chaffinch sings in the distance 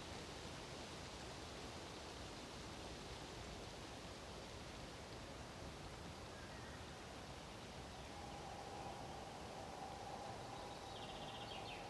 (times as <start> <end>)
7.5 11.8